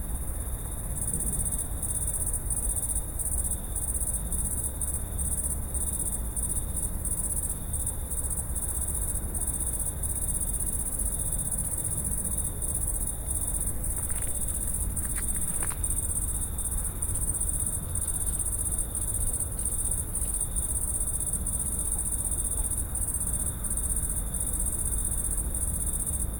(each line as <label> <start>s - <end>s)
august crickets 0.0s - 26.3s
night creature sounding dry leaves 13.8s - 16.5s